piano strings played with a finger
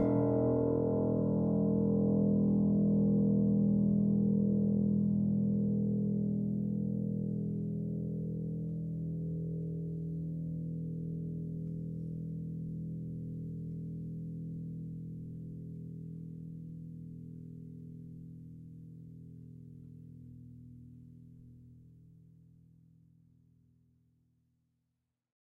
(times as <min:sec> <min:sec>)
0:00.0 0:02.0